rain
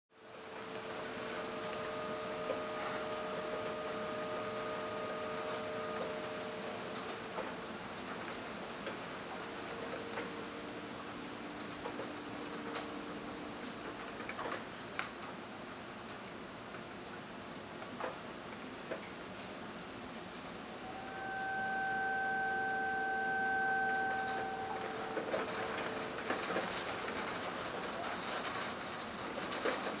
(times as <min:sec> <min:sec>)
0:00.2 0:19.1